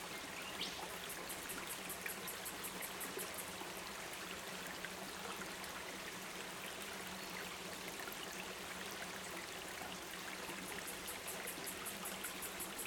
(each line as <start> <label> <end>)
0.0 Creek 12.8